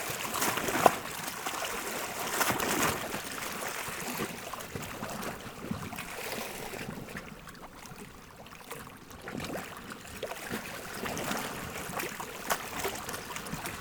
lake 0:00.0 - 0:13.8

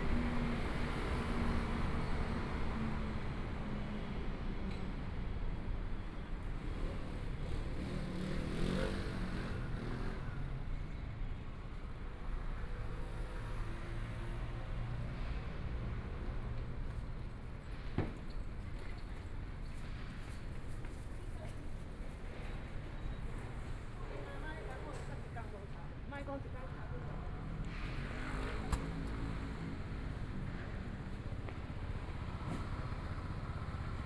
Pedestrians 0:00.0 - 0:34.0
Traffic Sound 0:00.0 - 0:34.0
Construction site sounds 0:13.9 - 0:34.0

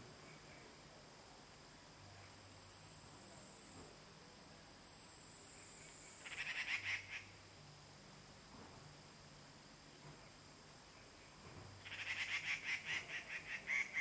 Birds singing in the ground 0:00.0 - 0:01.0
Birds singing in the ground 0:04.9 - 0:07.8
Birds singing in the ground 0:10.8 - 0:14.0

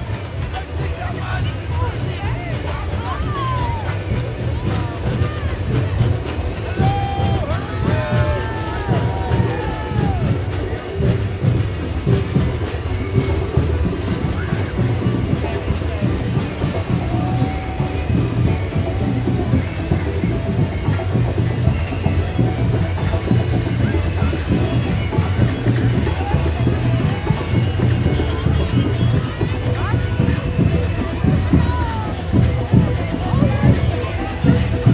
chanting 0:00.0 - 0:34.9
chatter 0:00.0 - 0:34.9
cheers 0:00.0 - 0:34.9
children 0:00.0 - 0:34.9
parade bands 0:00.0 - 0:34.9
yelling 0:01.0 - 0:11.1
whistles 0:13.0 - 0:31.4
yelling 0:14.0 - 0:34.9

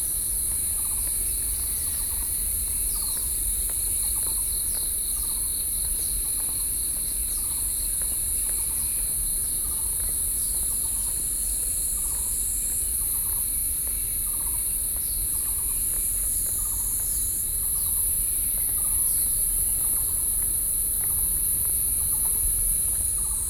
Cicadas 0:00.0 - 0:23.4

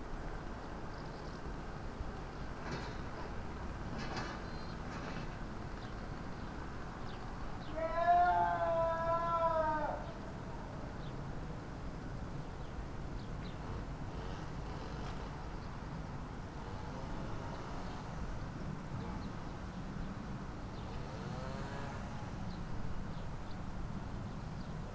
lawn mower 0:12.2 - 0:24.7

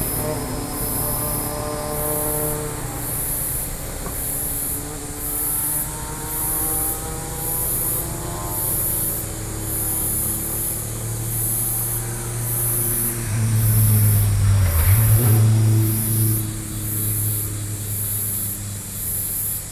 Insects sounds 0:00.0 - 0:19.7
Traffic Sound 0:00.0 - 0:19.7

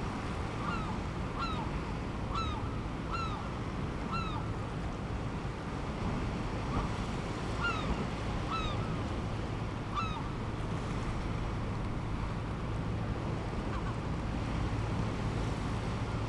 fishing boats leaving and entering the harbour 0:00.0 - 0:16.2
waves 0:00.0 - 0:16.2
herring gull calls 0:00.6 - 0:01.7
herring gull calls 0:07.6 - 0:08.9
herring gull calls 0:09.9 - 0:10.3

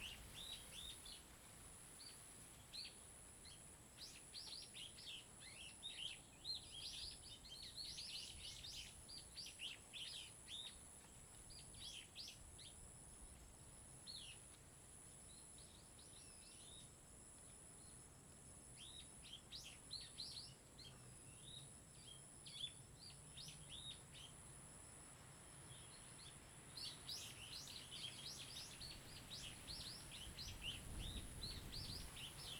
Birds singing 0:26.8 - 0:32.5

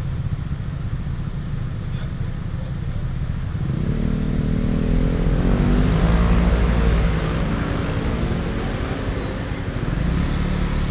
Traffic sound 0:00.3 - 0:10.9

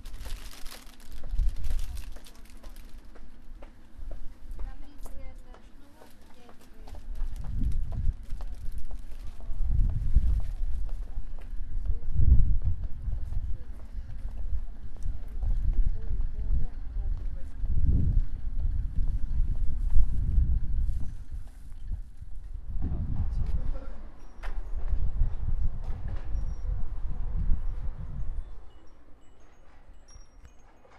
Tourist buying cookies 0:00.0 - 0:20.6
bells on the kiosk 0:24.1 - 0:24.8
bells on the kiosk 0:26.2 - 0:30.9

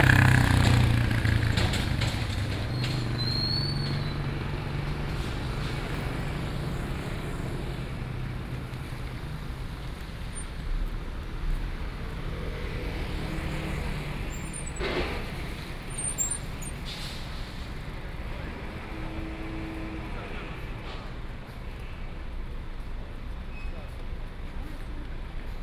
Sound from construction site 0:00.0 - 0:25.6
Traffic Sound 0:00.0 - 0:25.6

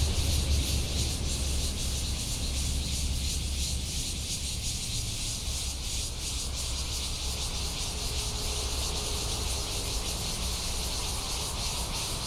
Cicadas 0:00.0 - 0:12.2

